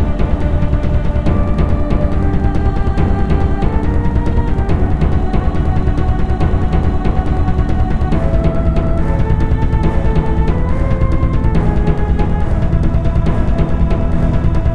Bass 0.0 - 14.7
Choir 0.0 - 14.7
Drums 0.0 - 14.7
Flute 0.0 - 14.7
Pad 0.0 - 14.7
Strings 0.0 - 14.7

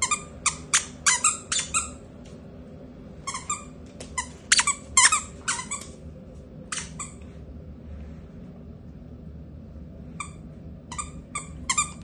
Dog playing with a squeaky toy 0.0 - 2.0
Dog playing with a squeaky toy 3.3 - 5.9
Dog playing with a squeaky toy 6.7 - 7.2
Dog playing with a squeaky toy 10.9 - 12.0

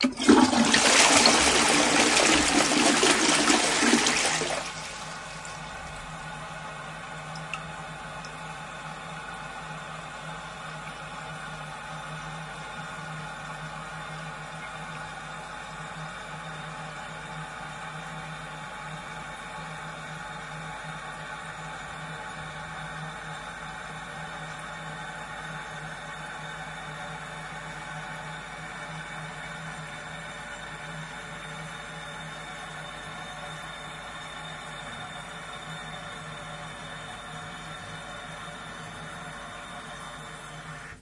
water closed toilet splash 0.0 - 5.6

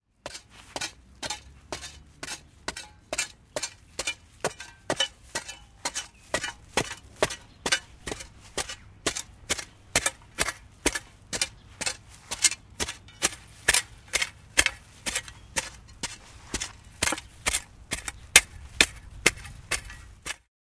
Spitting with shovel in soil 0.3 - 20.4

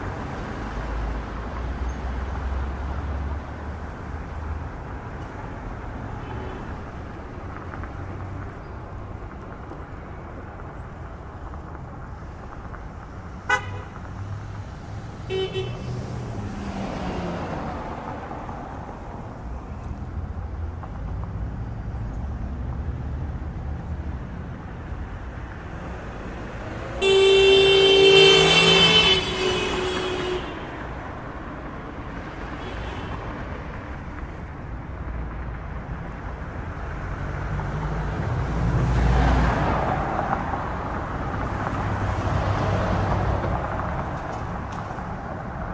Trucks And Cars 0.0 - 45.7

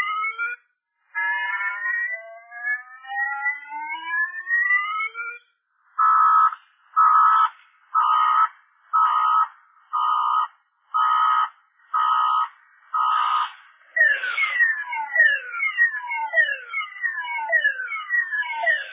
car alarm slowly dying out 0.0 - 18.9

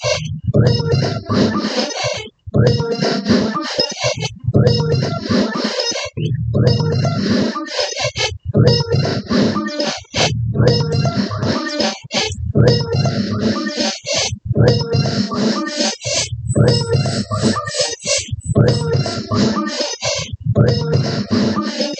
glitchy rhythm 0.0 - 21.9

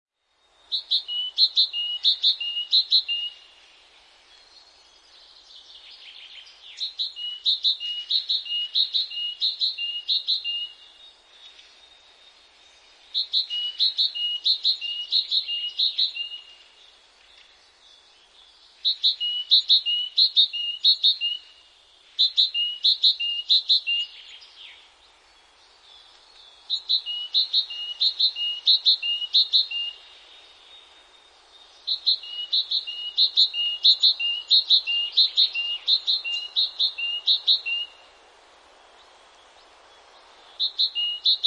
great tit singing a three-part verse 25.4 - 30.1
great tit singing a three-part verse 31.7 - 38.0

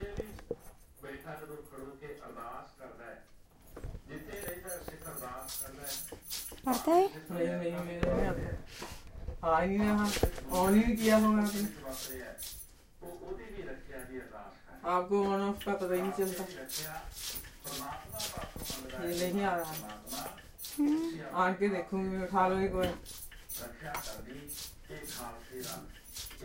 Sikh religious TV 0.0 - 26.4
tinkling of her metal bracelets 3.6 - 7.4
She speaks with Sonal in Hindi 6.7 - 7.2
tinkling of her metal bracelets 10.4 - 13.4
tinkling of her metal bracelets 15.2 - 21.2
She speaks with Sonal in Hindi 20.8 - 21.2
peeling carela 20.8 - 21.3
tinkling of her metal bracelets 22.8 - 26.4

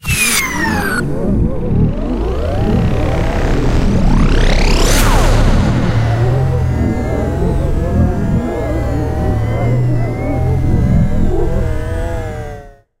woosh 0.0 - 12.4
rise 0.0 - 12.8
glitch 0.0 - 12.9
drone 0.0 - 13.0

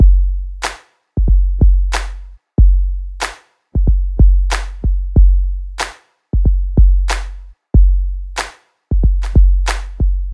kick drum 0.0 - 0.4
claps 0.6 - 0.9
kick drum 1.2 - 2.0
kick drum 2.6 - 3.0
claps 3.2 - 3.5
kick drum 3.8 - 5.5
claps 5.8 - 6.1
kick drum 6.4 - 7.1
kick drum 7.8 - 8.1
claps 8.4 - 10.0
kick drum 8.9 - 10.3

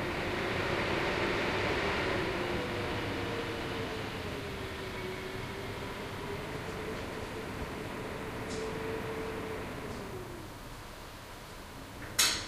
WIND IN MUSEUM LIFTSHAFT 0.0 - 12.1
electric fire's thermostat clicking on and off 6.2 - 10.3

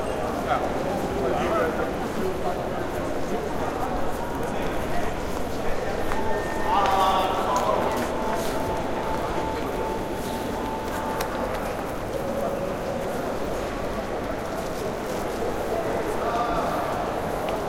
announcements 4.8 - 12.6

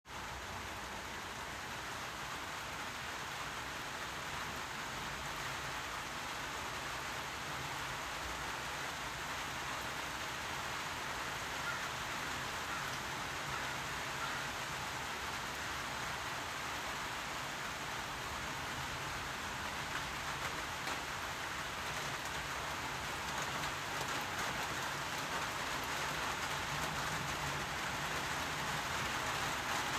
Gentle spring rain 0.0 - 29.9

